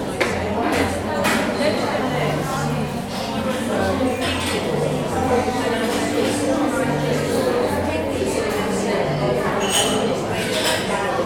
0.0s crockery 11.2s
0.0s many indistinct conversations 11.2s

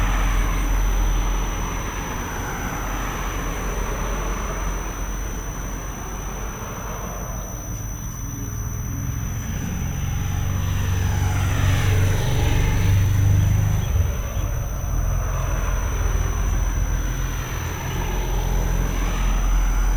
0.0s strange sound emitting air conditioner 19.9s

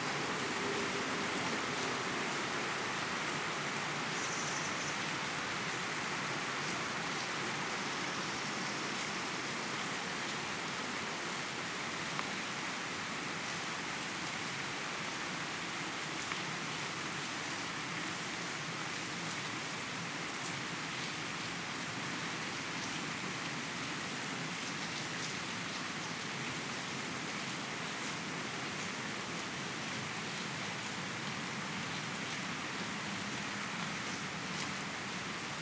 0.0s Rain 35.6s

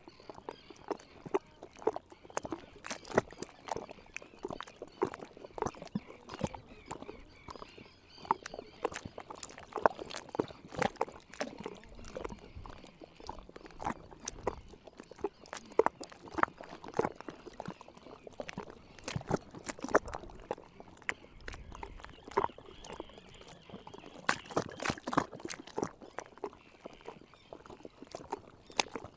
0.0s Pied Avocet 29.1s
0.0s water lapping 29.1s

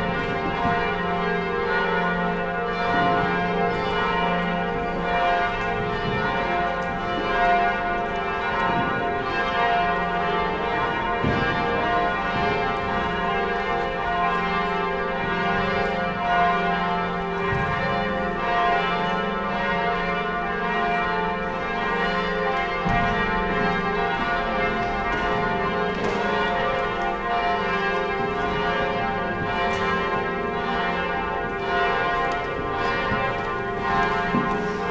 0.0s church bells inside 34.9s

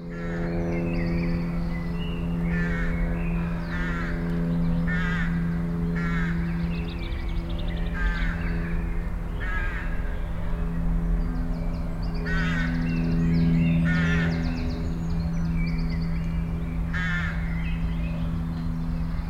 0.0s birds 19.2s
0.0s motorcycle 19.2s
0.0s plane 19.2s

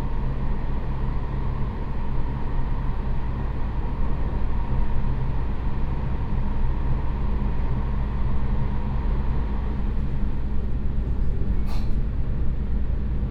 9.7s railway carriage 13.2s

